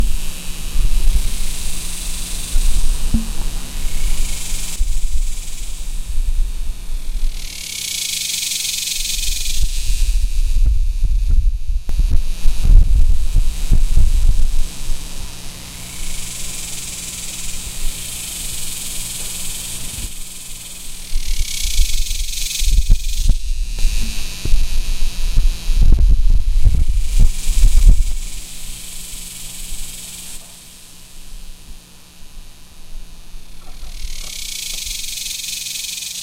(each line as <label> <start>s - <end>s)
wind blowing in the mic 0.0s - 7.5s
Cicadas in the trees 0.0s - 36.2s
crickets 0.0s - 36.2s
wind blowing in the mic 9.0s - 16.6s
wind blowing in the mic 17.2s - 30.4s
birds 33.4s - 36.2s